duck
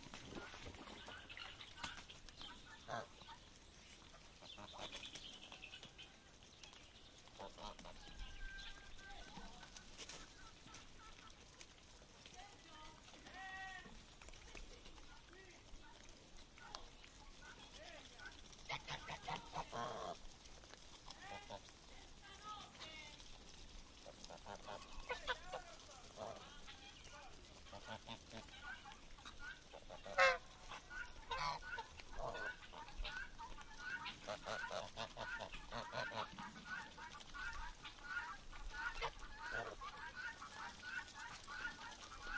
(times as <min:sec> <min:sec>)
0:00.1 0:11.7, 0:16.7 0:20.2, 0:24.0 0:42.3